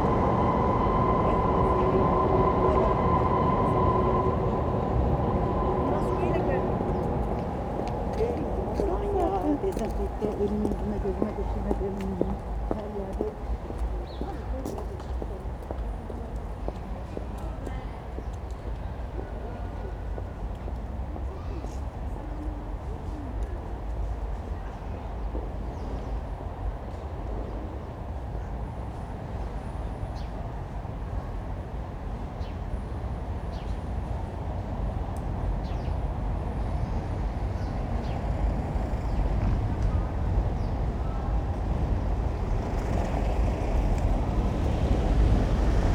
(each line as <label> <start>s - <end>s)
elevated U-Bahn moans 0.0s - 14.2s